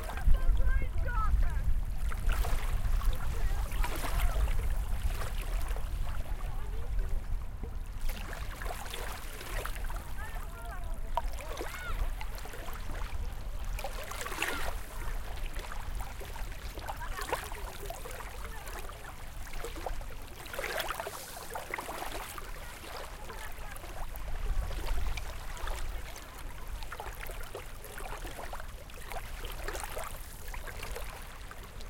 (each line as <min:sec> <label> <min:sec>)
0:00.0 taking a swim 0:31.8
0:00.0 water 0:31.8
0:00.0 people speaking 0:01.7
0:03.1 people speaking 0:04.5
0:10.1 people speaking 0:12.0
0:22.4 people speaking 0:24.0